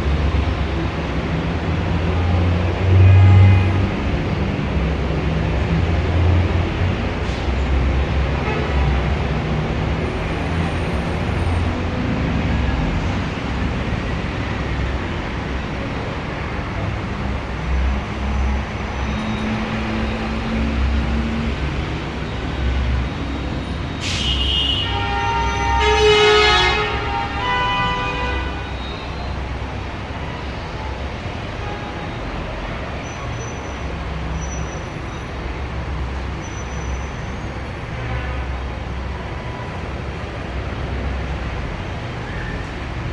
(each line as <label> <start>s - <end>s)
several cars 0.0s - 43.1s
horns 24.2s - 28.7s